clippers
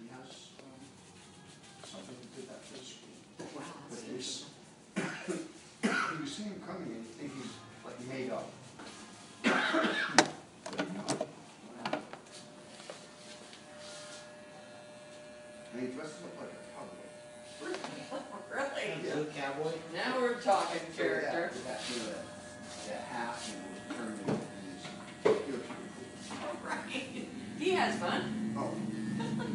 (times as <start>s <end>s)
12.4s 15.8s, 21.8s 26.6s